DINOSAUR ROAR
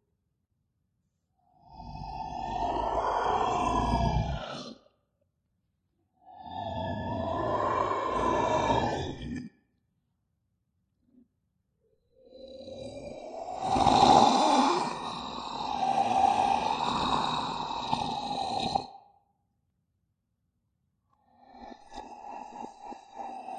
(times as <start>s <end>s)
1.7s 4.9s, 6.3s 9.4s, 12.4s 18.9s